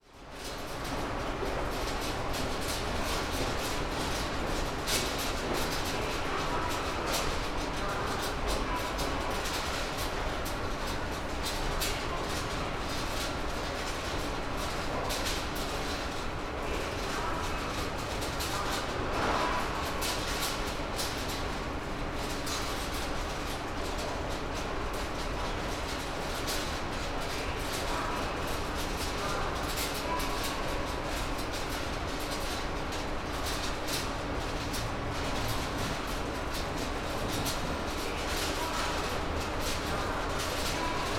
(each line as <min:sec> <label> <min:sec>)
0:00.0 metal sheet flaps rattling moved by air-conditioning flow 0:41.1